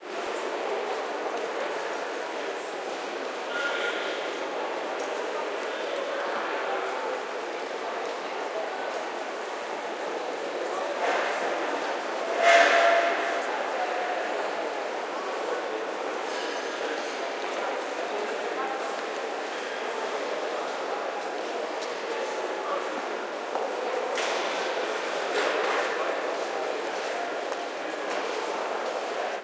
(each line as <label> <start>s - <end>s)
train 0.0s - 29.4s